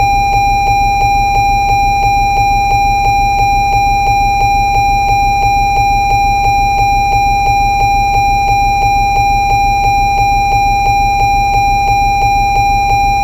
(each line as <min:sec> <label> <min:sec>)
0:00.0 fast warning chime 0:13.2